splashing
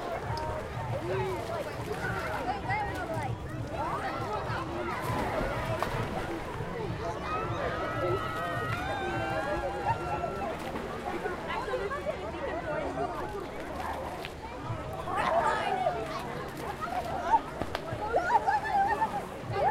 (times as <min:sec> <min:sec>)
0:04.8 0:06.6